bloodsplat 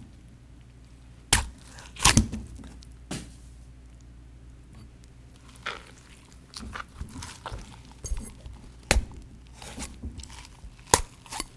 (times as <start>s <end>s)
1.3s 2.4s